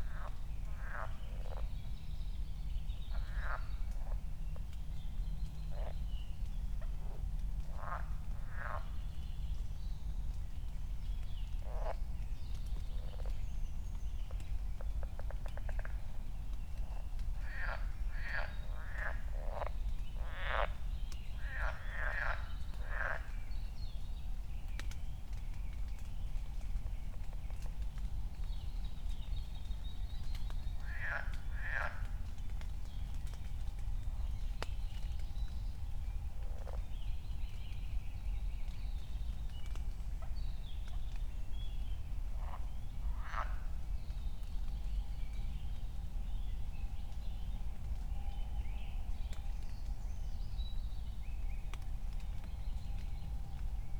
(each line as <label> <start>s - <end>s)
raindrops 0.0s - 53.9s
frogs 0.0s - 1.8s
frogs 3.1s - 4.7s
frogs 5.6s - 6.1s
frogs 6.7s - 9.2s
frogs 11.5s - 12.0s
frogs 12.6s - 13.4s
frogs 14.2s - 23.5s
frogs 29.7s - 35.3s
frogs 36.1s - 37.6s
frogs 42.0s - 43.9s